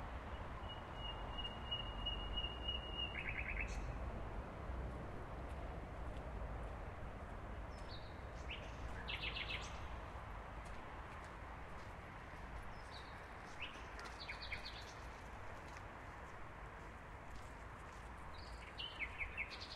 bird singing 0:00.6 - 0:03.9

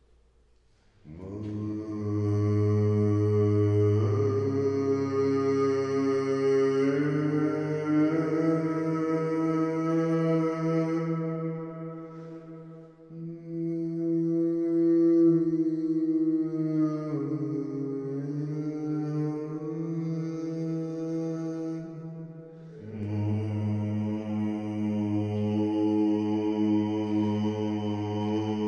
Male singing with natural reverb 0:01.0 - 0:28.6

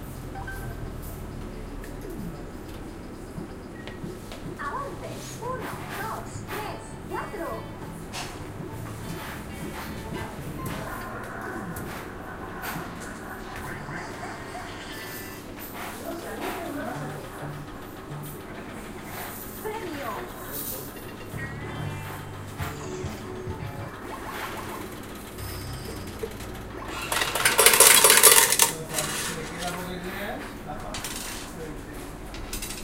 game machine 0:00.0 - 0:30.0
awards sounds 0:10.4 - 0:15.6
awards sounds 0:21.3 - 0:27.2
falling coins 0:25.4 - 0:29.3
falling coins 0:32.5 - 0:32.8

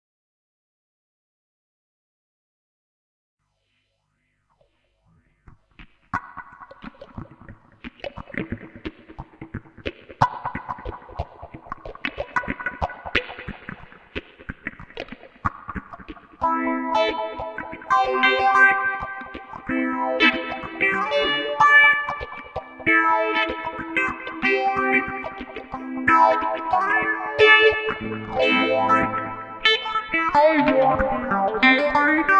guitar 0:05.8 - 0:32.3

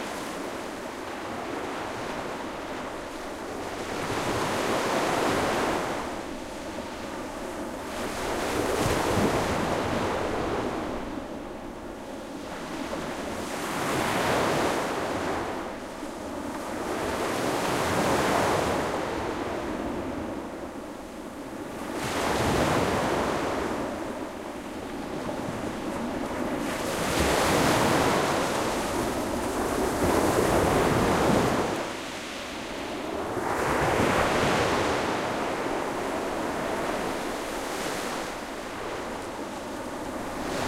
Soft waves breaking on a sandy beach 0:00.0 - 0:40.6

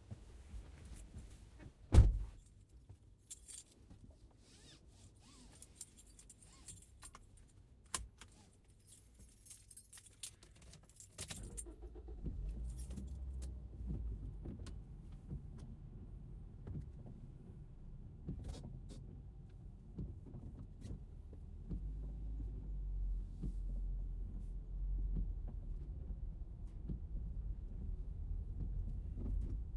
seat belt 0:03.3 - 0:15.4
Short drive, interior 0:03.3 - 0:29.7
car seat 0:04.4 - 0:06.9
keys 0:05.5 - 0:11.8
ignition 0:11.2 - 0:14.0
seat belt 0:18.2 - 0:19.1
car seat 0:18.2 - 0:19.2

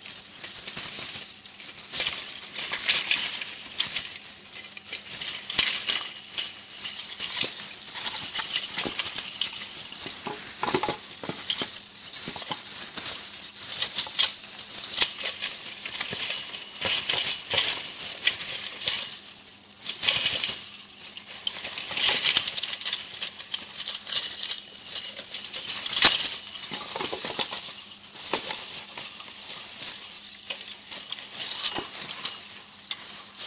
jangle 0:00.0 - 0:33.4

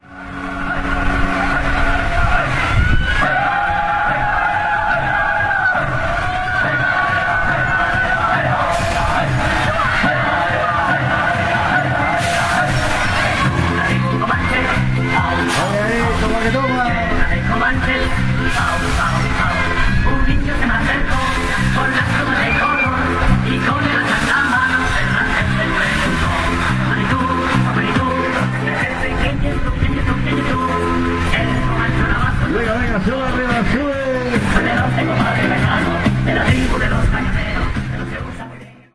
bulls fair 0:00.1 - 0:38.6

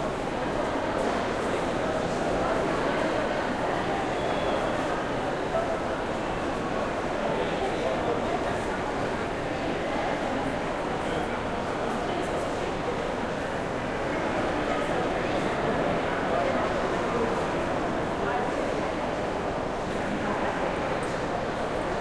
crowd 0:00.0 - 0:22.0

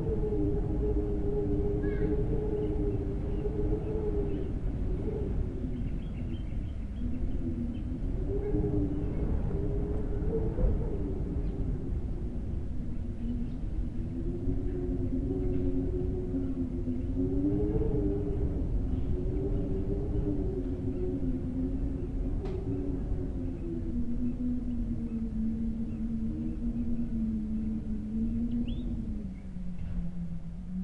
Wind Howl 0:00.0 - 0:30.8

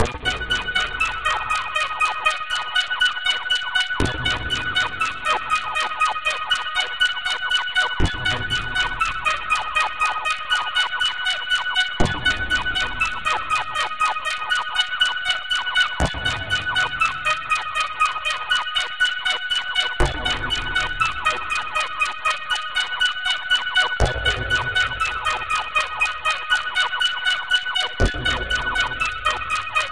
spacey and melodic sounds 0:00.0 - 0:07.1
rhythmic and random noise in the background 0:00.0 - 0:29.9

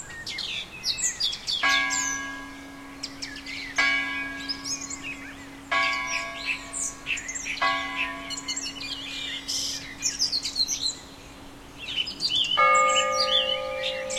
wind in trees 0:00.0 - 0:14.1
high bell 0:01.6 - 0:10.6
lower bell tolling the hour 0:01.6 - 0:11.1
high bell 0:12.6 - 0:14.1
lower bell tolling the hour 0:12.6 - 0:14.1

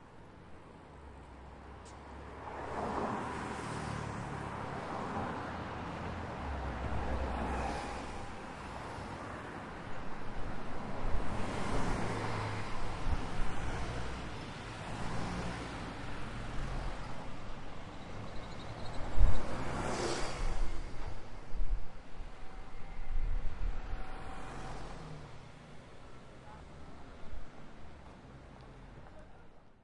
buses 0:00.0 - 0:29.8
cars passing 0:01.0 - 0:29.5
occasional bikes passing 0:22.2 - 0:26.6

